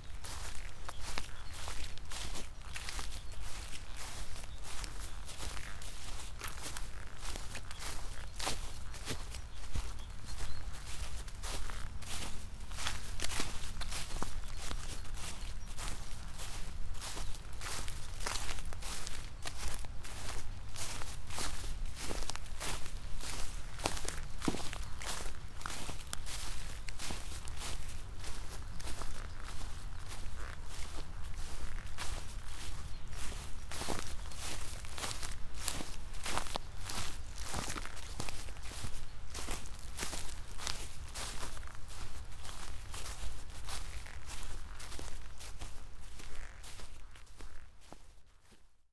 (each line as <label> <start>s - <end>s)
walking 10.3s - 48.0s